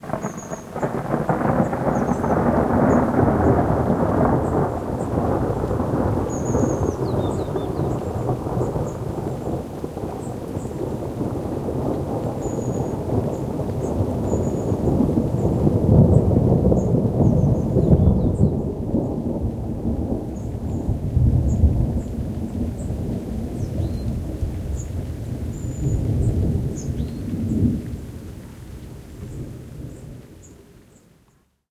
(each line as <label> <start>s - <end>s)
Thunder 0.0s - 30.6s